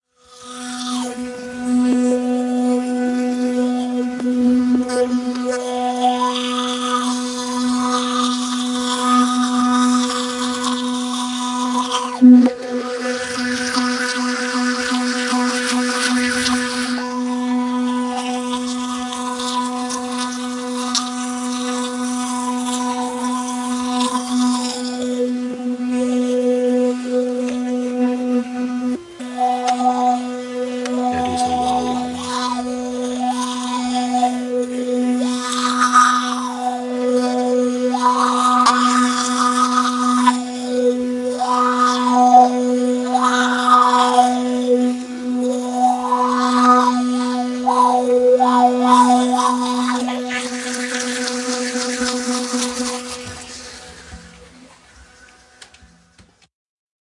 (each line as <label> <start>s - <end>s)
brushing teeth with electric toothbrush 0.0s - 56.2s